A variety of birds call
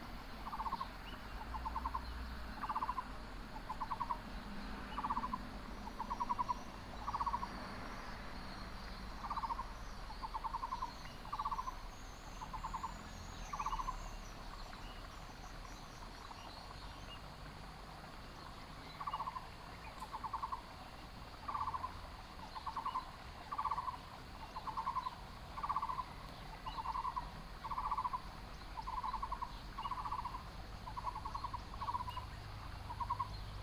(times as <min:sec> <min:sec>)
0:00.0 0:03.1, 0:03.7 0:07.5, 0:22.6 0:33.6